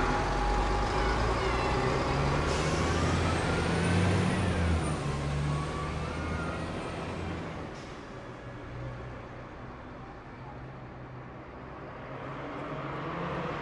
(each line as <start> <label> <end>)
0.0 van 12.0
0.0 bus 13.6
11.6 car bys 13.6